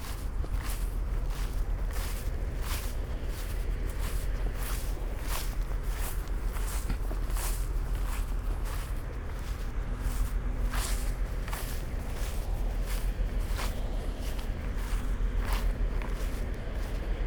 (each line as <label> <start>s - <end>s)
cargo ship is moving upstream 0.0s - 17.2s